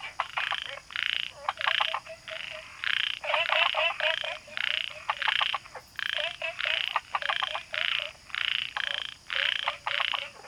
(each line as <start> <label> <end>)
0.0 Frogs chirping 10.4